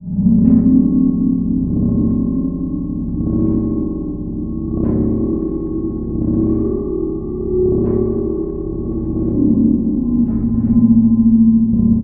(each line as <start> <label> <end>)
0.0 modular synthesizer 12.0